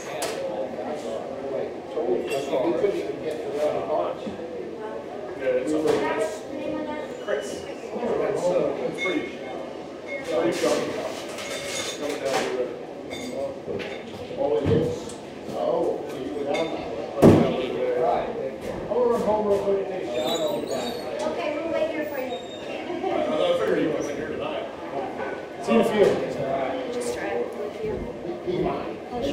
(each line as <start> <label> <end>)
0.0 people chatter and talk 29.3